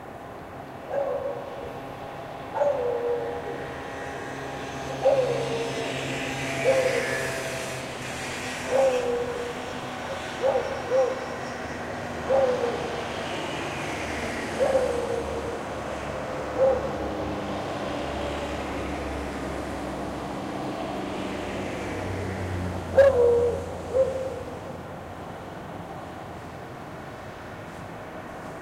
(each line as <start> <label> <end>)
0.7 Beagle barking in a balcony 3.9
4.8 Beagle barking in a balcony 7.4
8.6 Beagle barking in a balcony 13.1
14.4 Beagle barking in a balcony 17.5
22.8 Beagle barking in a balcony 25.4